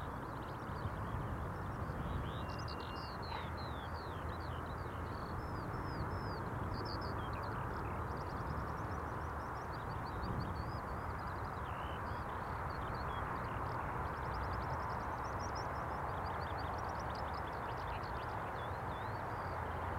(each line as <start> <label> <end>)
1.0 skylark murmers 8.3